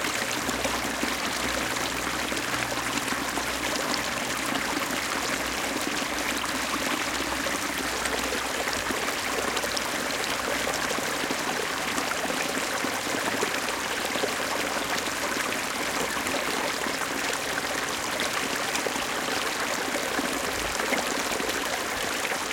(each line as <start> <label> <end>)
0.0 small creek 22.5